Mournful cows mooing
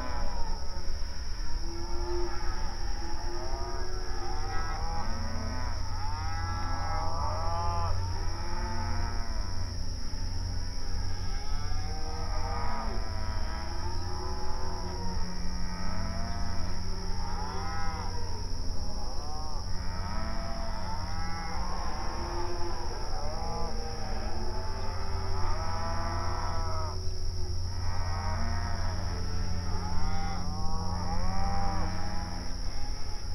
27.7 33.2

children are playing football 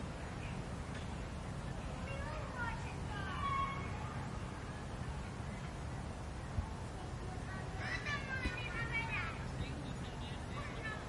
6.5 11.0

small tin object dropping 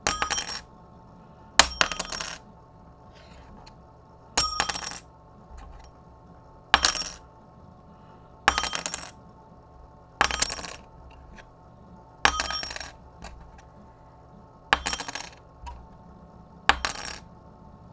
0.1 0.6, 1.6 2.4, 4.4 5.0, 6.8 7.2, 8.5 9.1, 10.2 10.8, 12.3 13.6, 14.8 15.8, 16.7 17.2

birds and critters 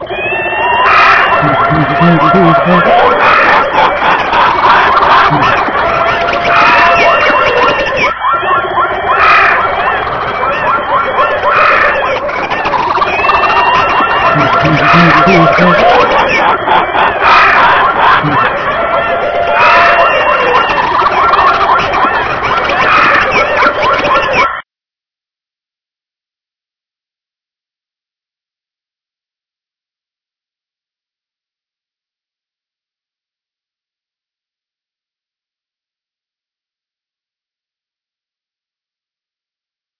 0.0 24.4

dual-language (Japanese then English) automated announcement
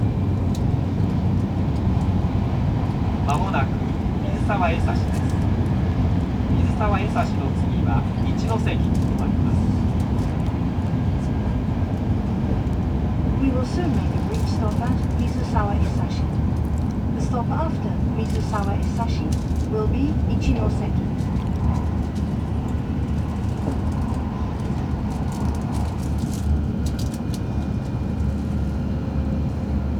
3.2 5.4, 6.5 9.8, 13.4 16.3, 17.1 21.1

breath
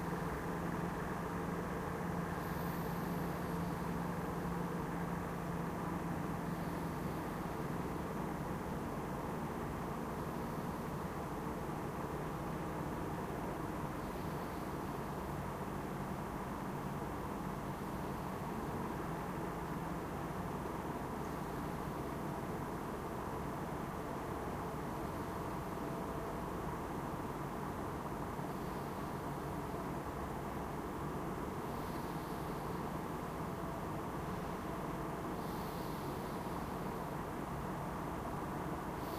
2.4 3.9, 31.7 32.9, 35.4 36.9, 39.0 39.1

